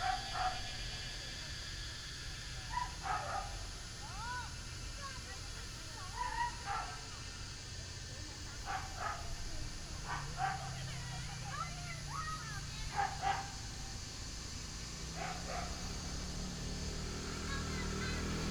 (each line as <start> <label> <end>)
0.0 Dogs barking 0.6
0.0 Cicadas sound 18.5
8.6 Dogs barking 11.0
12.8 Dogs barking 13.9
15.0 Dogs barking 16.4